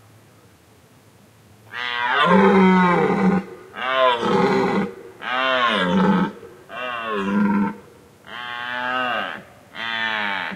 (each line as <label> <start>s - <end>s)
Deer calling and rutting 1.7s - 10.5s